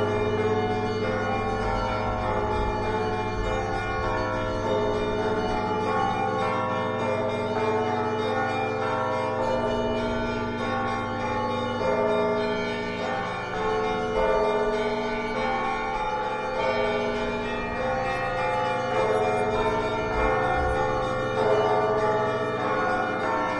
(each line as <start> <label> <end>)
0.0 church bells 23.5